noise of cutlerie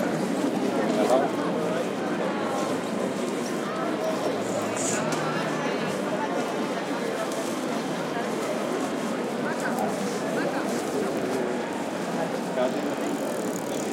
0:03.6 0:06.1, 0:11.2 0:13.9

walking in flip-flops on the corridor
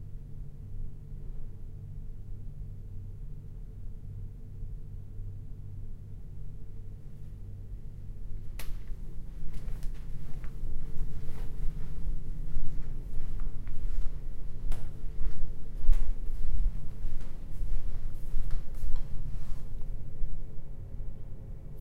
0:08.1 0:20.6

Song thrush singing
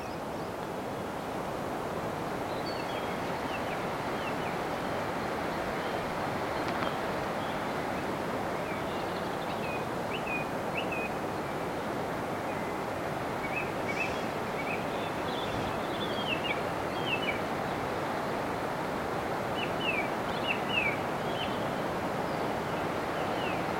0:13.4 0:18.4, 0:19.6 0:23.7

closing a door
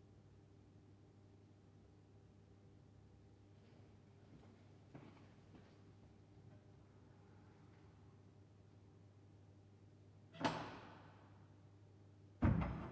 0:10.4 0:11.2, 0:12.4 0:12.9

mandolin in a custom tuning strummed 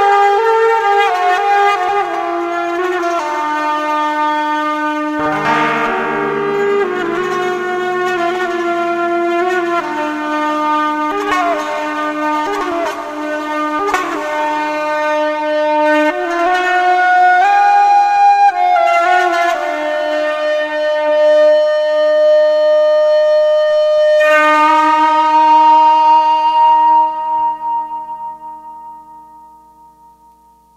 0:05.2 0:10.3

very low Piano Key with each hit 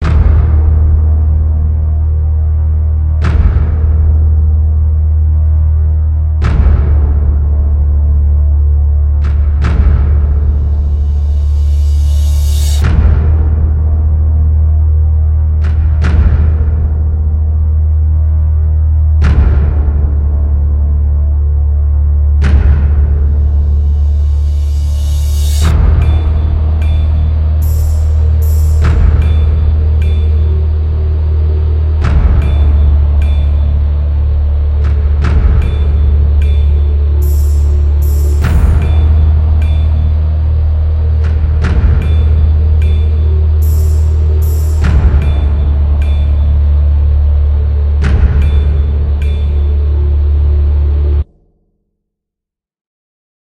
0:22.4 0:51.3

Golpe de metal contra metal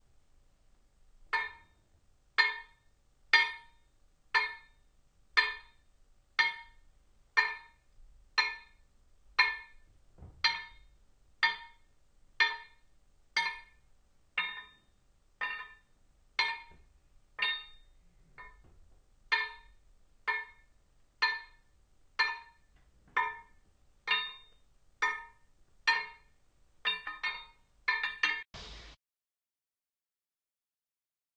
0:17.4 0:18.6

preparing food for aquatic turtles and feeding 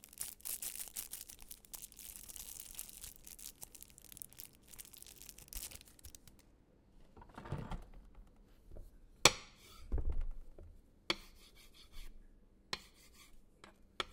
0:00.0 0:06.6

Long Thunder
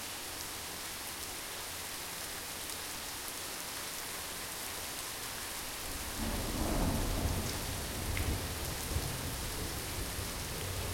0:06.1 0:10.2

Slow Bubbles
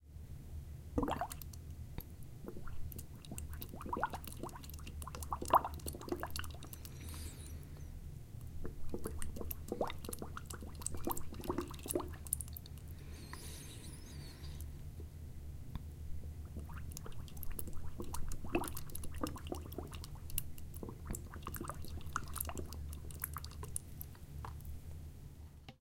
0:01.0 0:01.6, 0:02.4 0:07.3, 0:08.6 0:12.8, 0:16.5 0:24.7

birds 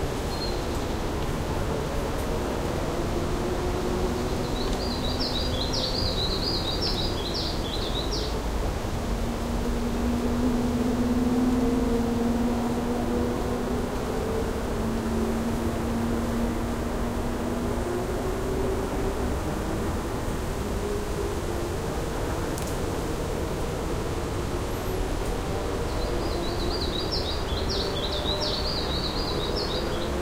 0:04.1 0:08.4, 0:25.4 0:30.2

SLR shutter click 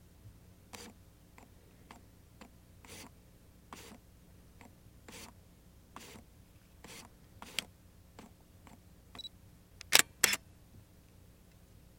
0:09.8 0:10.4

